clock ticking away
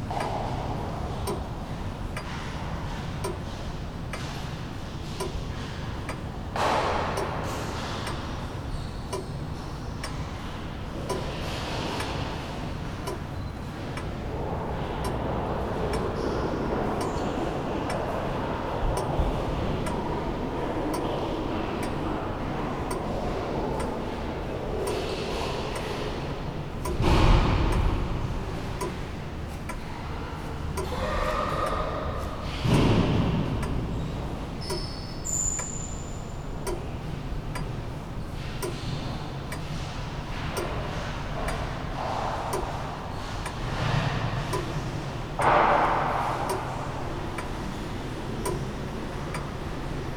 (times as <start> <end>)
1.2 1.5, 3.2 3.4, 5.2 6.3, 11.9 17.3, 24.8 29.9, 32.7 47.7, 48.4 49.6